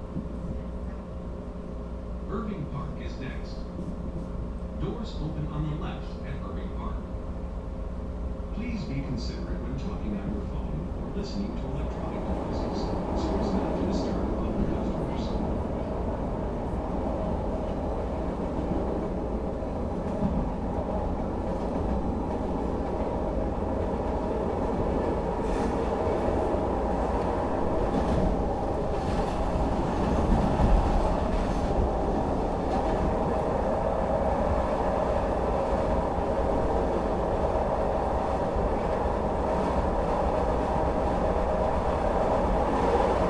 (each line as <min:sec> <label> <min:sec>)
0:00.0 train 0:43.2